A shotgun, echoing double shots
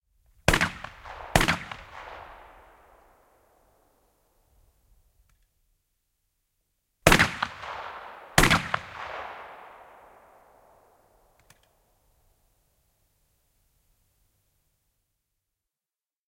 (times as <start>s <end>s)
0.5s 3.6s, 7.1s 11.3s